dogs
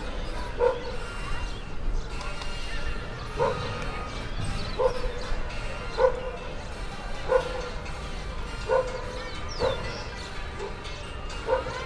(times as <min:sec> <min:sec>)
0:00.4 0:01.0, 0:03.3 0:03.9, 0:04.6 0:05.2, 0:05.9 0:06.4, 0:07.2 0:07.7, 0:08.6 0:10.8, 0:11.4 0:11.8